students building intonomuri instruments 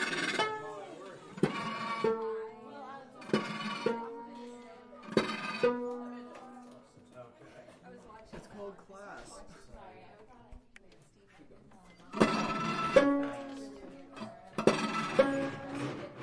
0:00.0 0:07.6, 0:11.7 0:16.2

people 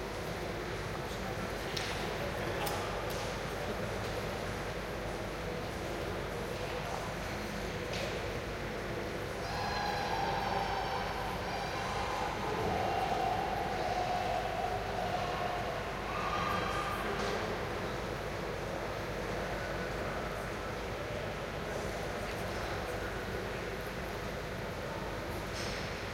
0:05.6 0:23.9

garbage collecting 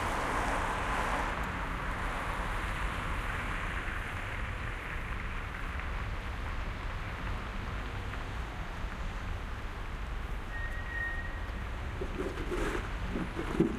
0:12.0 0:13.7

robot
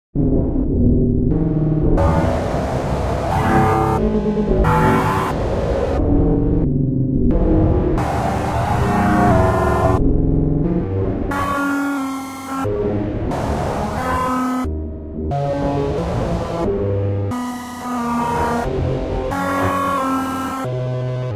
0:01.3 0:06.7, 0:07.3 0:14.7

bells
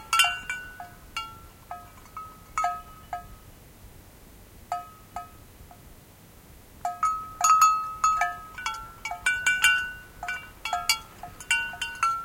0:00.0 0:03.5, 0:06.8 0:12.2

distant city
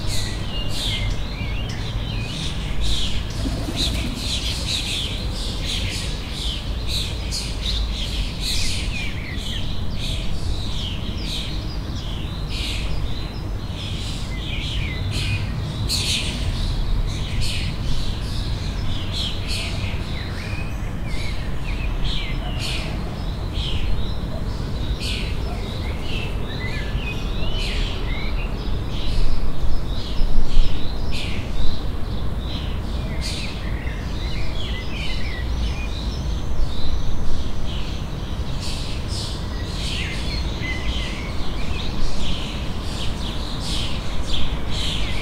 0:02.6 0:06.8

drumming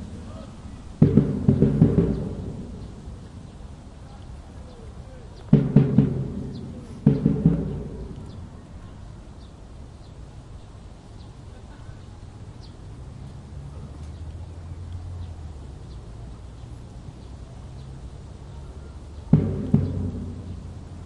0:01.0 0:03.3, 0:05.5 0:08.5, 0:19.3 0:21.0

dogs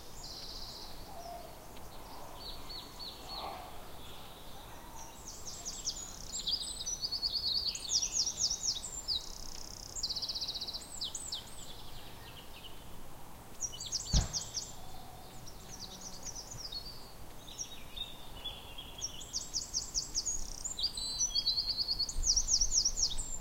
0:02.1 0:03.9

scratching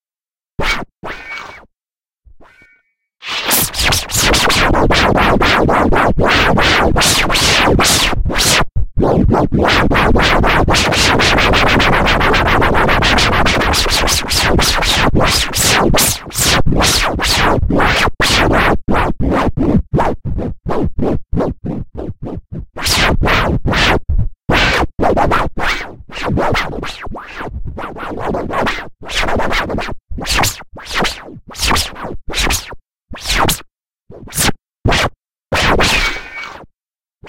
0:03.2 0:17.2

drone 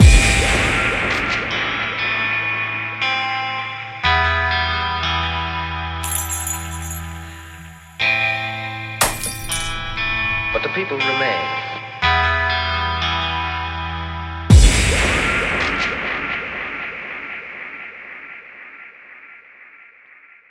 0:00.0 0:06.2, 0:12.6 0:19.2

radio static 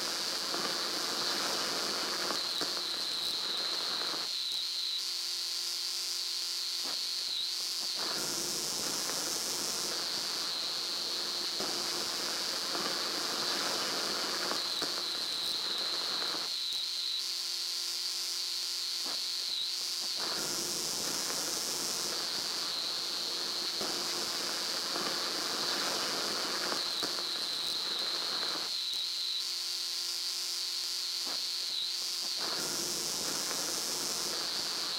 0:20.1 0:28.7, 0:32.3 0:34.9

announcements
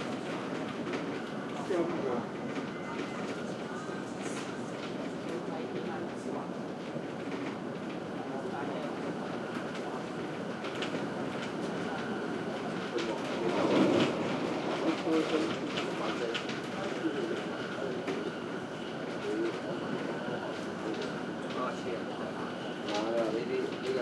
0:07.6 0:24.0

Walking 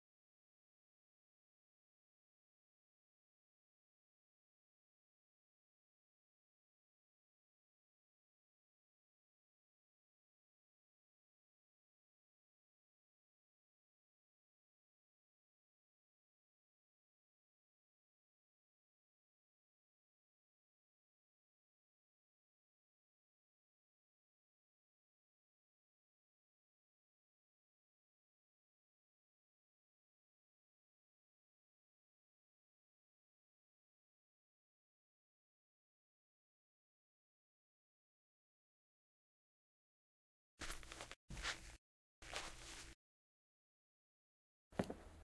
0:40.6 0:43.0

